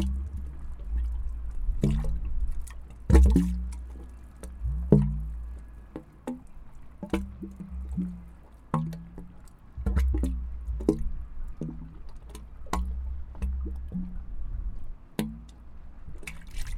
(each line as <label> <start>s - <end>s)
drainage pipe 0.0s - 16.7s